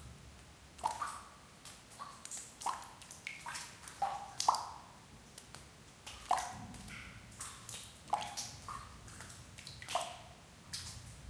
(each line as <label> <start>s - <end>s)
Water drops in crypt 0.8s - 1.2s
Water drops in crypt 6.2s - 9.0s